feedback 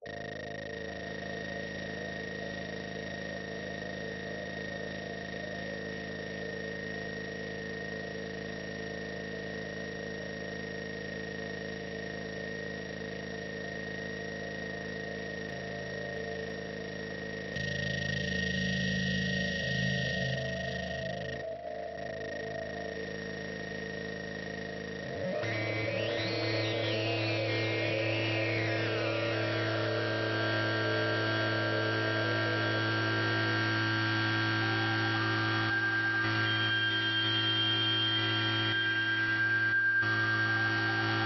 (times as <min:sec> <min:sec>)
0:25.0 0:41.2